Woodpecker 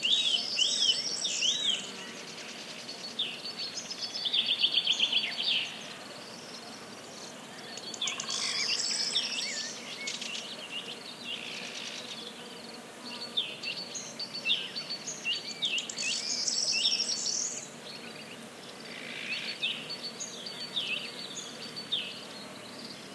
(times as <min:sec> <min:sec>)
0:07.8 0:09.0